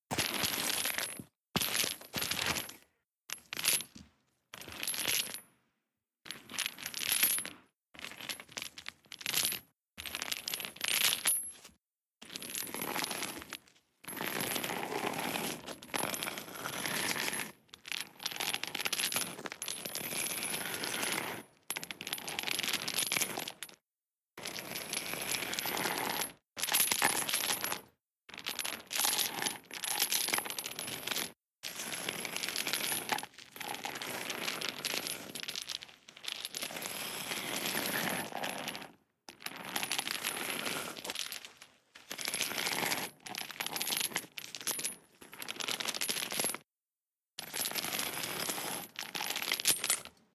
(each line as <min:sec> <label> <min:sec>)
0:00.1 heavy-metal-chain-dragging-handling 0:04.0
0:06.3 heavy-metal-chain-dragging-handling 0:23.8
0:24.4 heavy-metal-chain-dragging-handling 0:46.6
0:47.4 heavy-metal-chain-dragging-handling 0:50.2